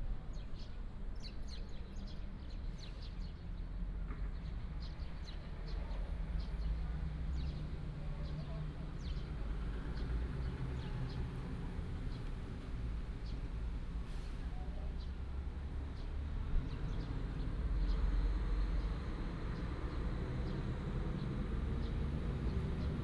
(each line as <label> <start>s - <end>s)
Traffic sound 0.0s - 23.0s